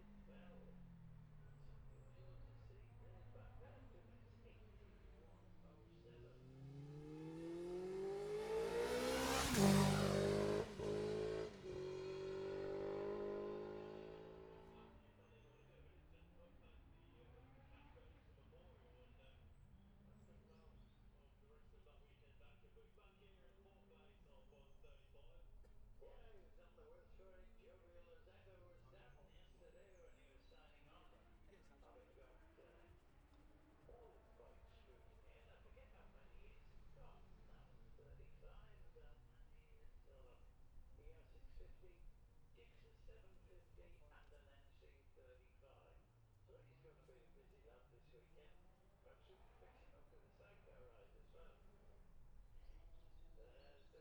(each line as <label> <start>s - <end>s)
classic superbikes practice 0.0s - 54.0s